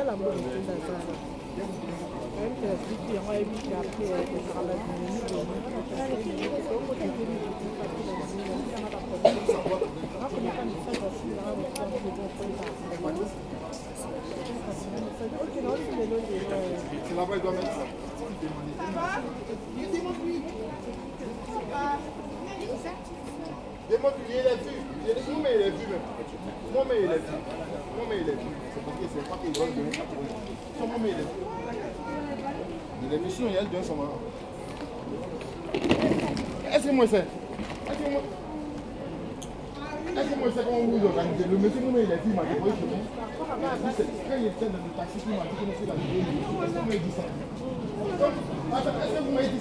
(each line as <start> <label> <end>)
0.0 lively conversations 49.6
0.0 train incoming Chartres station 49.6
25.7 conventional TER train 39.8